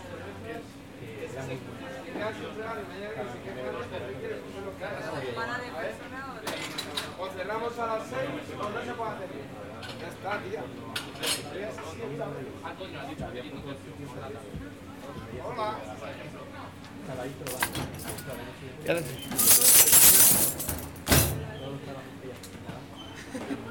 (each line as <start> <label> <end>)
17.5 Dish, Glass, and Cutlery noises 21.4
17.5 Dishwasher 21.6
19.0 Coin noise 21.0